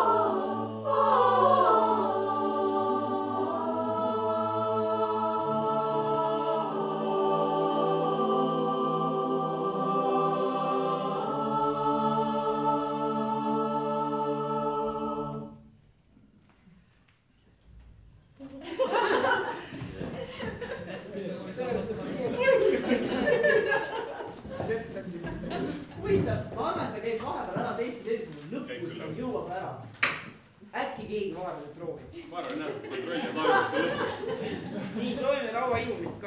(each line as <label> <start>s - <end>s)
choire 0.0s - 16.1s
choire 18.6s - 26.4s
footsteps 19.2s - 20.9s
talk 20.8s - 23.5s
footsteps 23.4s - 28.6s
talk 30.7s - 36.2s
choire 32.8s - 35.2s
footsteps 35.7s - 36.2s